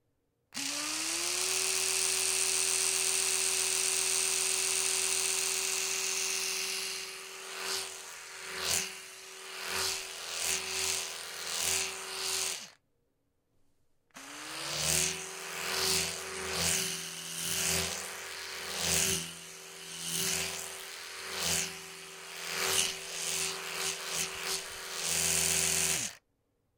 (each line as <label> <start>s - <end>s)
Electric Toothbrush Flyby 0.6s - 12.8s
Electric Toothbrush Flyby 14.2s - 26.2s